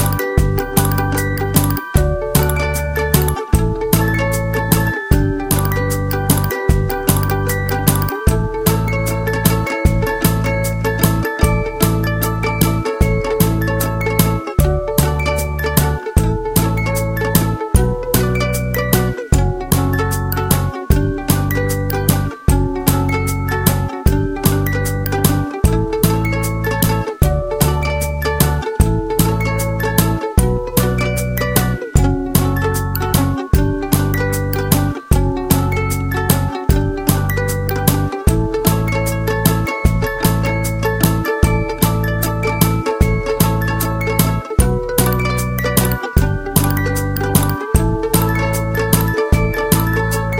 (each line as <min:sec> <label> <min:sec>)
0:00.0 music box 0:28.8
0:29.4 music box 0:50.3